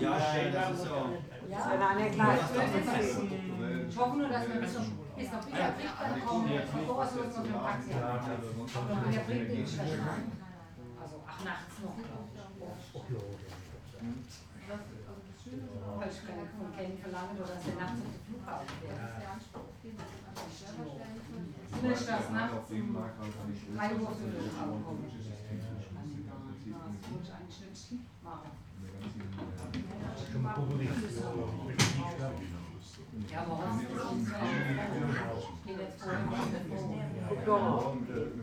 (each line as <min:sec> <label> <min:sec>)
0:00.0 guests talking with the manager of the pub 0:38.4